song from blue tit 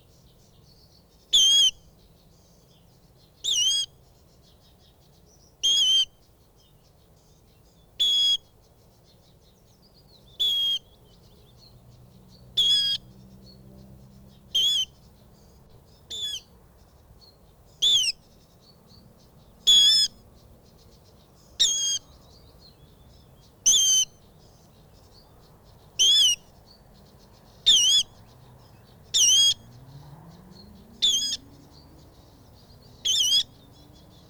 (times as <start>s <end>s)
30.6s 34.2s